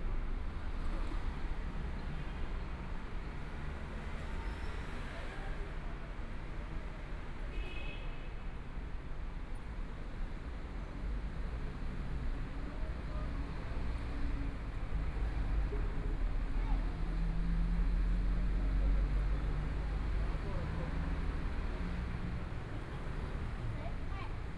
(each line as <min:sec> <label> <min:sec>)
0:00.0 walking In the Street 0:24.5
0:10.4 Traffic Sound 0:24.5